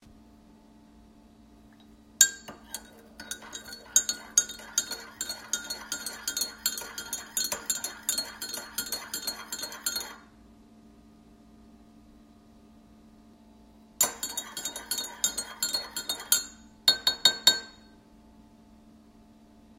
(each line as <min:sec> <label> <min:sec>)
0:02.2 Stirring Sugar In My Coffee 0:10.3
0:14.0 Stirring Sugar In My Coffee 0:17.7